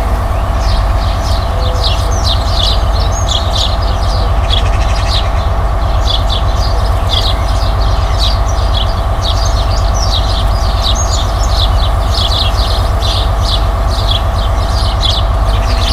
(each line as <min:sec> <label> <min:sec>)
0:00.0 Bee's buzzing in the bush 0:15.9
0:00.0 birds 0:15.9
0:10.4 train pulls up 0:15.9